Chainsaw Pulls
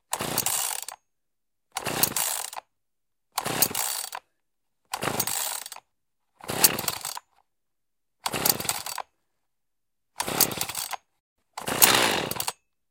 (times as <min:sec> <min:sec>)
0:00.1 0:01.0, 0:01.8 0:02.7, 0:03.4 0:04.2, 0:04.9 0:05.8, 0:06.4 0:07.3, 0:08.2 0:09.1, 0:10.2 0:12.7